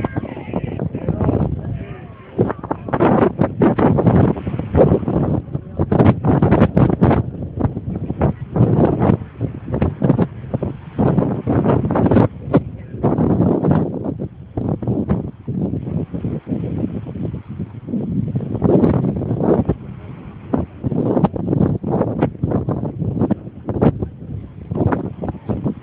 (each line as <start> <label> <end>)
0.0 people, talking and laughing in the background 15.3
0.0 sea 25.8
0.0 wind 25.8
19.4 people, talking and laughing in the background 25.8